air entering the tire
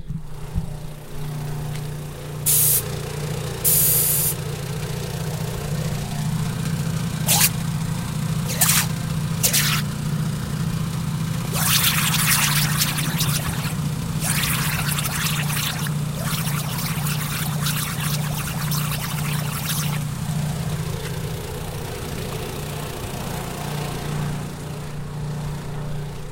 0:02.5 0:02.9, 0:03.6 0:04.4, 0:07.2 0:07.7, 0:08.5 0:09.9, 0:11.5 0:20.1

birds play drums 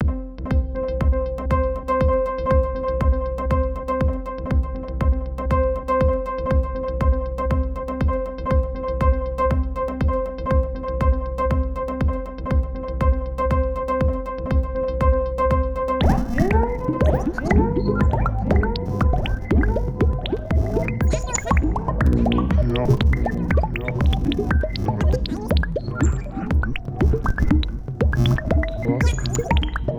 0:16.0 0:29.9

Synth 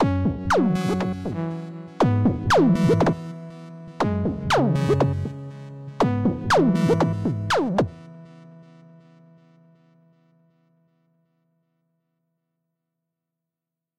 0:00.0 0:08.2

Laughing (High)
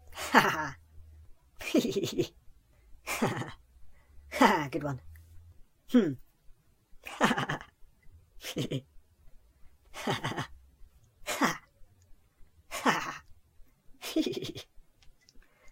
0:00.1 0:00.8, 0:01.6 0:02.4, 0:03.0 0:03.6, 0:07.0 0:07.8, 0:08.4 0:08.9, 0:09.9 0:10.6, 0:11.2 0:11.7, 0:12.7 0:13.3, 0:14.0 0:14.8

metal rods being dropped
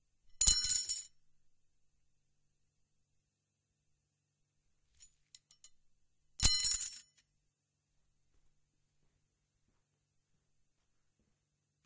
0:00.4 0:01.0, 0:06.4 0:07.1

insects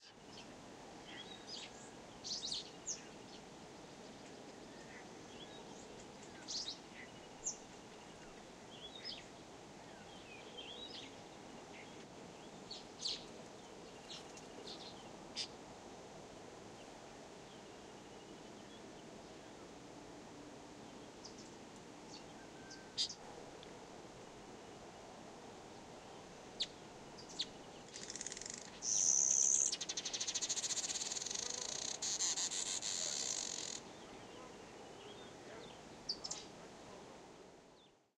0:27.3 0:33.9

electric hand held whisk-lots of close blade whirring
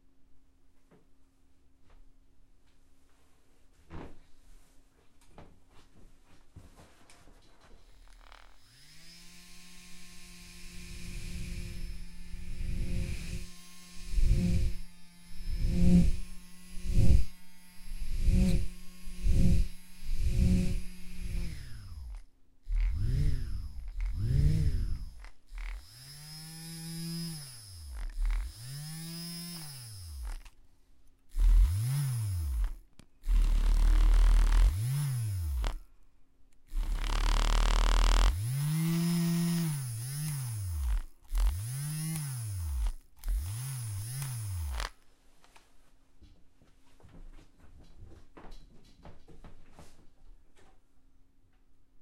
0:07.8 0:30.6, 0:31.3 0:35.9, 0:36.6 0:45.0

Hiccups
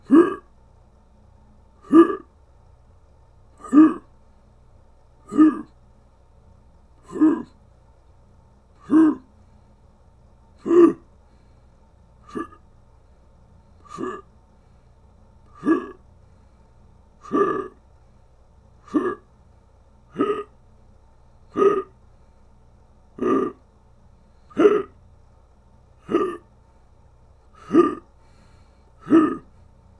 0:00.0 0:00.5, 0:01.8 0:02.3, 0:03.6 0:04.1, 0:05.3 0:05.7, 0:07.0 0:07.5, 0:08.8 0:09.2, 0:10.6 0:11.0, 0:12.3 0:12.6, 0:13.9 0:14.2, 0:15.6 0:16.0, 0:17.2 0:17.8, 0:18.8 0:19.3, 0:20.1 0:20.5, 0:21.5 0:22.0, 0:23.2 0:23.6, 0:24.5 0:25.0, 0:26.0 0:26.5, 0:27.6 0:28.1, 0:29.0 0:29.5

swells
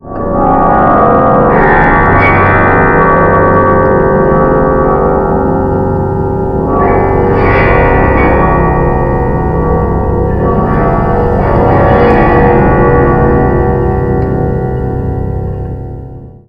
0:03.9 0:16.2

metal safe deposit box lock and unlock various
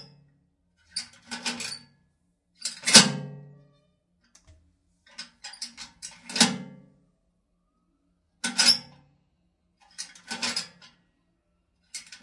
0:00.9 0:01.9, 0:02.6 0:03.3, 0:05.1 0:06.8, 0:08.4 0:09.0, 0:09.9 0:10.9, 0:11.9 0:12.2

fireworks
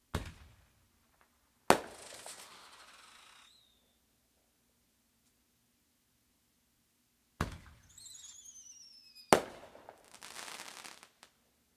0:00.2 0:03.8, 0:07.4 0:11.3

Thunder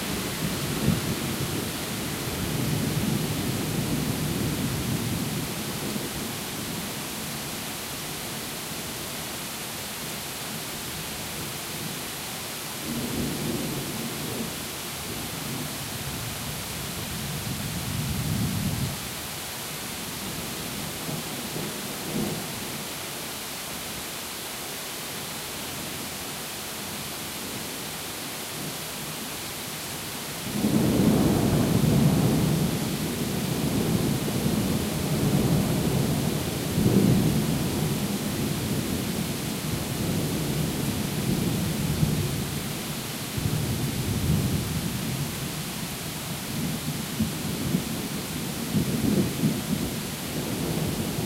0:30.5 0:38.8

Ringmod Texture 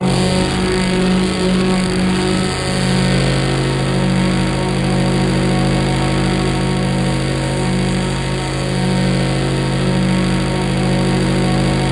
0:00.0 0:06.9

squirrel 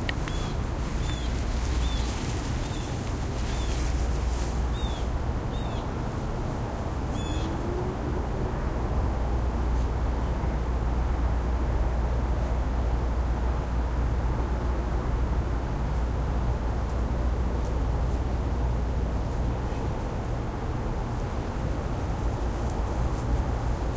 0:00.0 0:03.9

